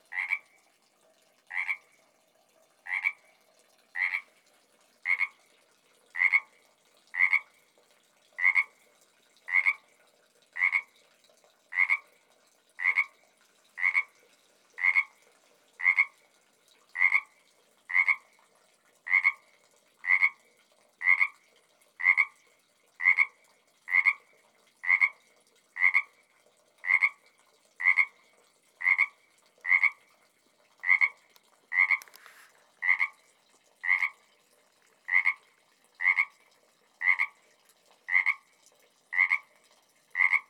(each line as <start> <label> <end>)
0.1 Frog found in metal tub 0.5
2.8 Frog found in metal tub 3.2
3.9 Frog found in metal tub 4.3
5.0 Frog found in metal tub 5.4
6.2 Frog found in metal tub 7.6
8.4 Frog found in metal tub 8.8
10.6 Frog found in metal tub 10.9
11.7 Frog found in metal tub 12.1
14.8 Frog found in metal tub 15.2
30.8 Frog found in metal tub 33.2
33.8 Frog found in metal tub 34.2
35.1 Frog found in metal tub 35.4
37.0 Frog found in metal tub 37.4
39.1 Frog found in metal tub 39.5
40.2 Frog found in metal tub 40.4